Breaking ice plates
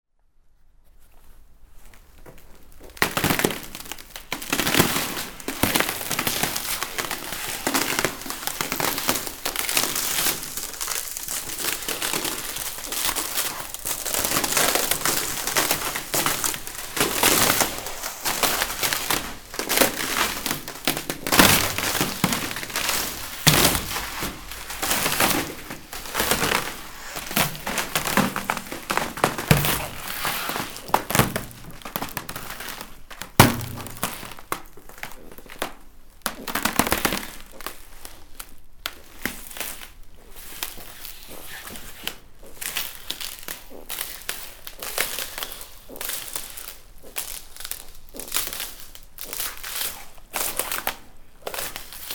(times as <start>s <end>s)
3.0s 35.6s